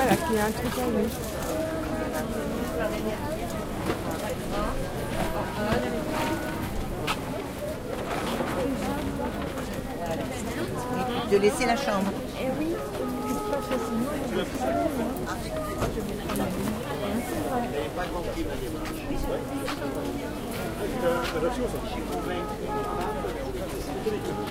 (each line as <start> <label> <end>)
0.0 Voices 24.5